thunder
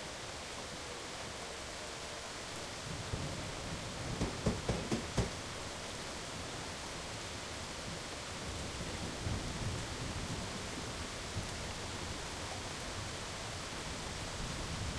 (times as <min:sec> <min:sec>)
0:03.0 0:05.5